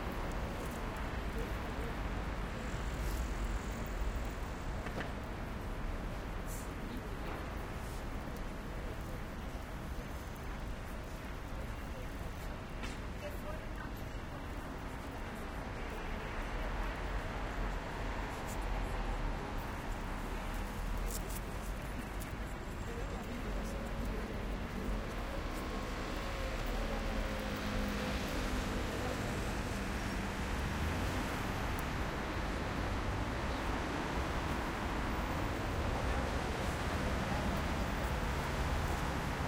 medium noise pedestrians 0:00.0 - 0:39.4
medium velocity cars 0:00.0 - 0:39.4

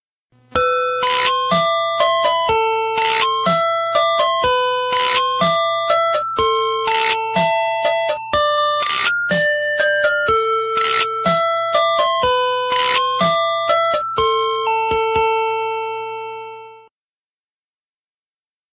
Omni Music Box 0:00.6 - 0:16.0

